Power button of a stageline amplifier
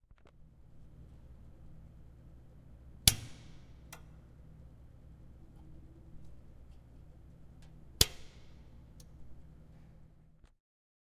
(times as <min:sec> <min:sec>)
0:03.1 0:04.2, 0:08.0 0:09.2